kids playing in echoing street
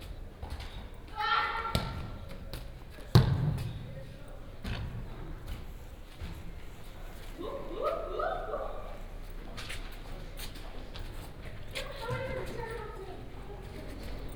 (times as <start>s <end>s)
0.9s 3.0s, 5.6s 14.3s